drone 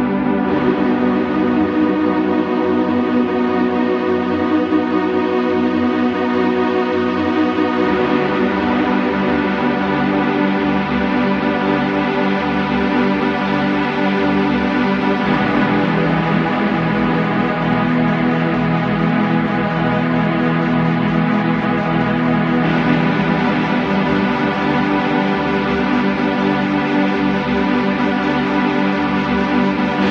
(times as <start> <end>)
14.1 30.1